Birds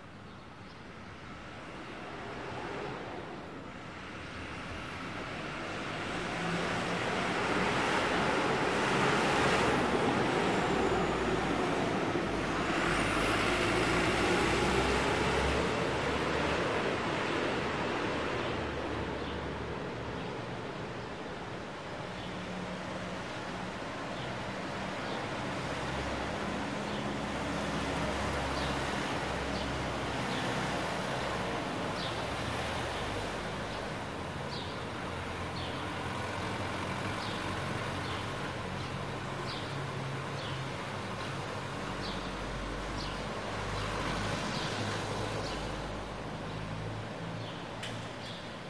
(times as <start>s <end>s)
24.2s 46.7s, 47.4s 48.6s